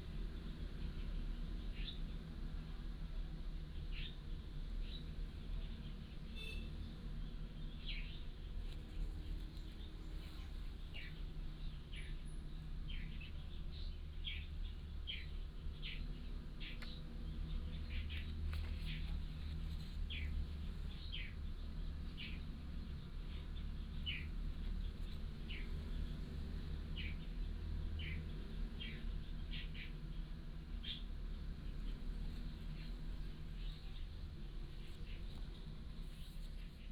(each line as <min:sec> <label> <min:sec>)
0:00.6 Birds singing 0:02.2
0:03.7 Birds singing 0:35.8